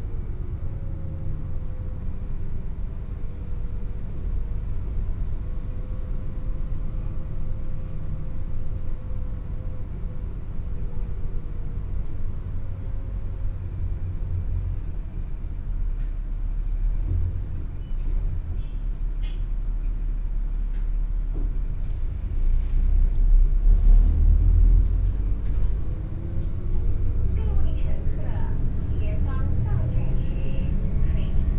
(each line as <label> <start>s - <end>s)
Take the bus 0.0s - 31.5s
Bus message broadcast sound 27.4s - 31.5s